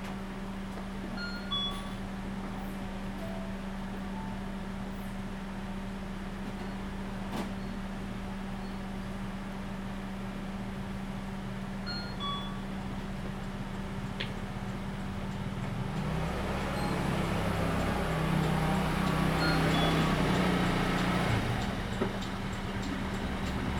Traffic Sound 0:14.6 - 0:23.7

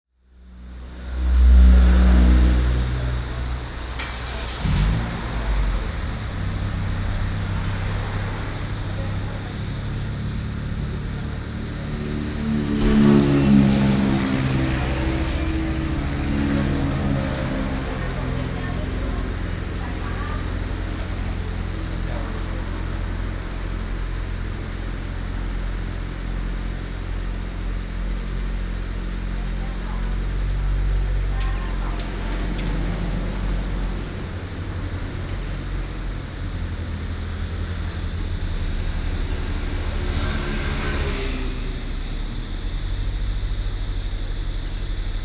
Traffic noise 0:00.3 - 0:45.2

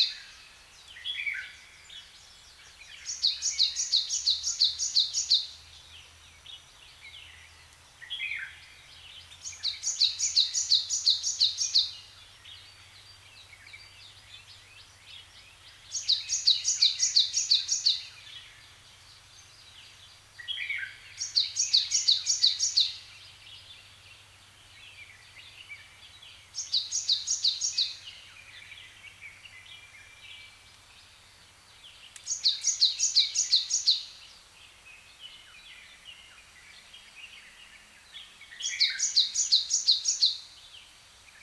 birds' song 0:00.0 - 0:41.4

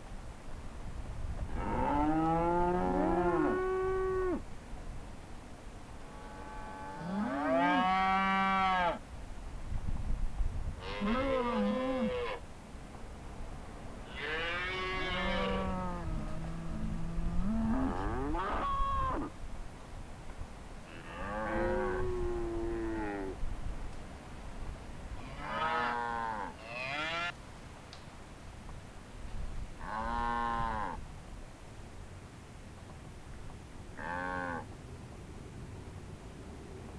Cows Mooing 0:14.1 - 0:19.3
Cows Mooing 0:25.3 - 0:27.3
Cows Mooing 0:34.0 - 0:34.7

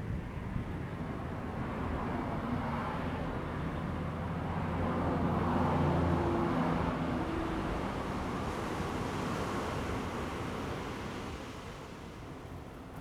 waves 0:01.6 - 0:13.0

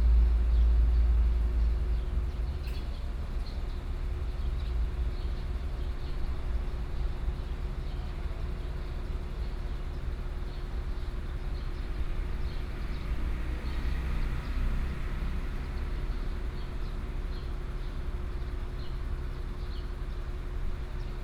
Birdsong sound 0:01.9 - 0:21.2
Traffic Sound 0:10.2 - 0:20.6

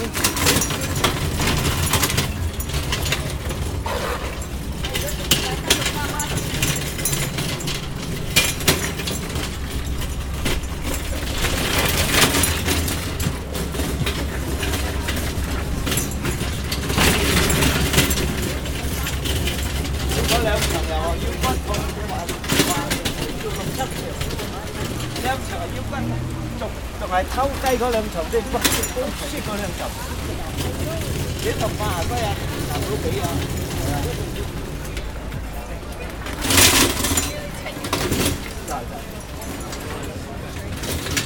wheels of the drum being pushed 0:00.0 - 0:41.2

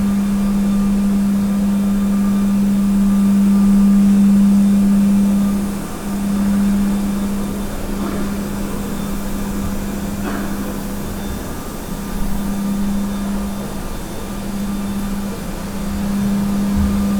floor cleaning machine operating 0:00.0 - 0:17.1

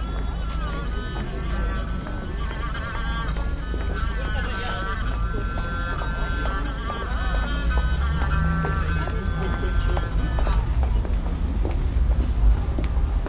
Passanten 0:00.0 - 0:13.2
chinesische Geige 0:00.0 - 0:13.2
weihnachtsrummel 0:00.0 - 0:13.2

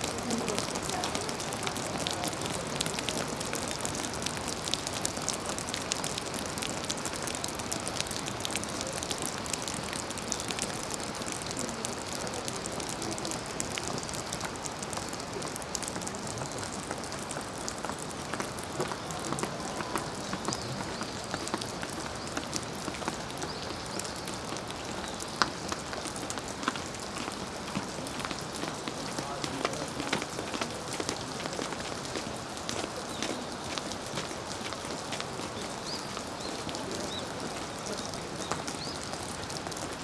Dripping eaves 0:00.0 - 0:40.0
close-by river 0:00.0 - 0:40.0

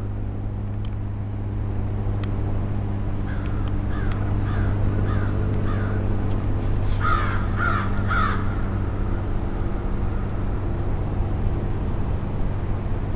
crows 0:03.3 - 0:06.1
crows 0:06.9 - 0:09.3

